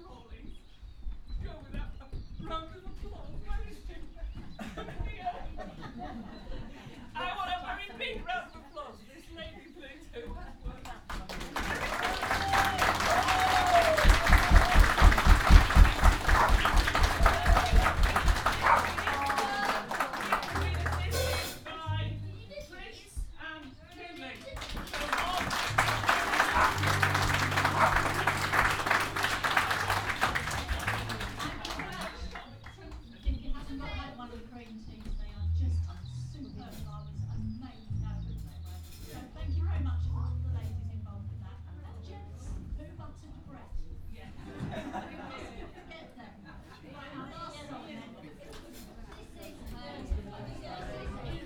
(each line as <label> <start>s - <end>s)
ukulele band 11.4s - 22.6s
ukulele band 24.4s - 34.0s